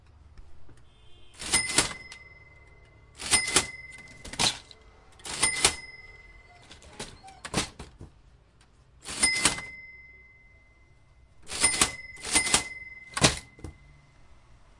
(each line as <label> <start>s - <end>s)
Old cash-register open and close 1.4s - 8.0s
Old cash-register open and close 9.0s - 10.3s
Old cash-register open and close 11.4s - 13.8s